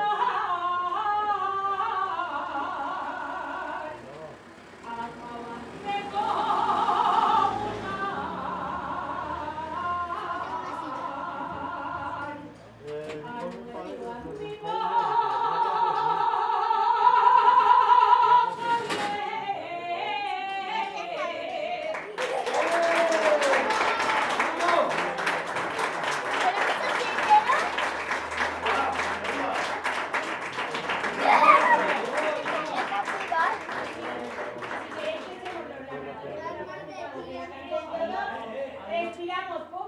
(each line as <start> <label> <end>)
0.0 Jotas, regional traditional songs 23.7
0.5 road 21.7
3.4 people talking outside 39.8
10.3 children playing 11.6
23.0 road 39.8
26.2 children playing 28.9
31.1 children playing 34.2
35.0 children playing 38.5